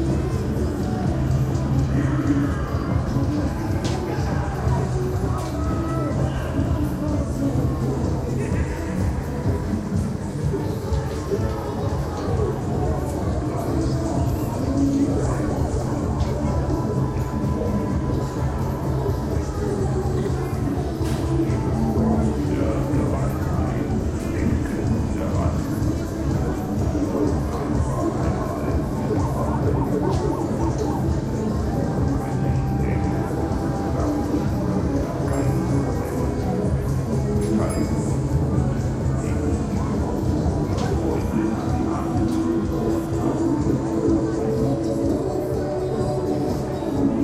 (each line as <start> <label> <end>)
0.0 early customers are milling around 47.2